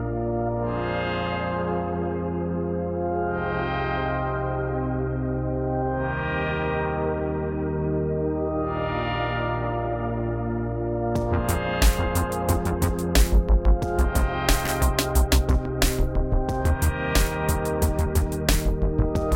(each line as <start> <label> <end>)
10.8 melodic synths 19.3
11.2 driving bass 19.3
11.2 drums 19.3